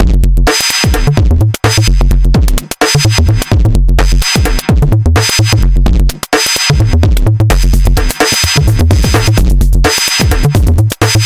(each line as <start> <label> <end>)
0.0 bassline 11.2
0.0 electrofunk breakbeats 11.2